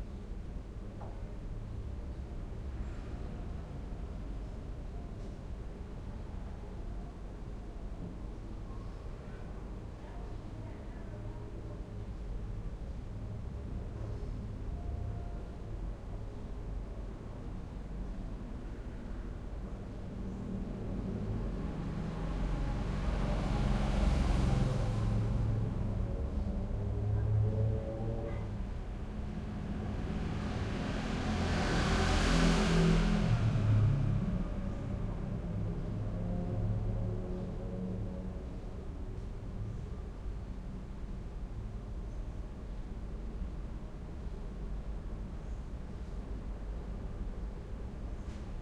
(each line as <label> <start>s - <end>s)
resonant throaty bassy traffic passing by through open windows 0.0s - 48.6s